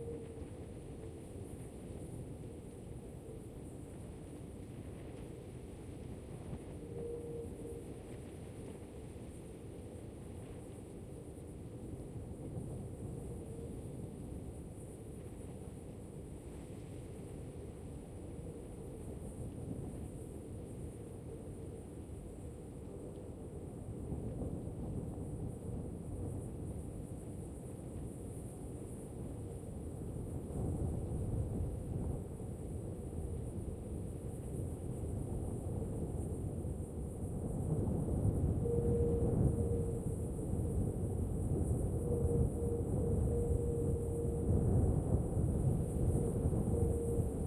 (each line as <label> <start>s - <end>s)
insects 0.0s - 47.4s
strong wind 0.0s - 47.4s
wind in a bottle 34.0s - 47.4s